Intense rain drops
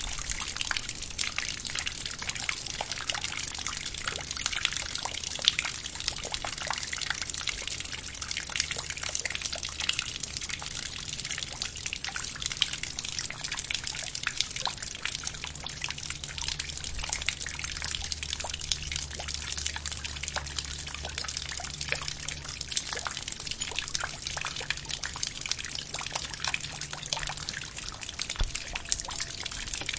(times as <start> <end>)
0.0 6.6, 13.1 29.9